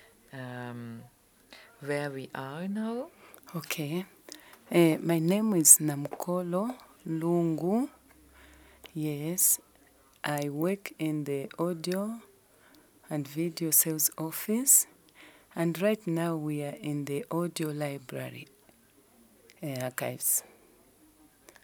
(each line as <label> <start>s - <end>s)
She talks 0.3s - 8.0s
She talks 8.8s - 9.6s
She talks 10.2s - 12.3s
She talks 13.1s - 18.6s
She talks 19.5s - 20.6s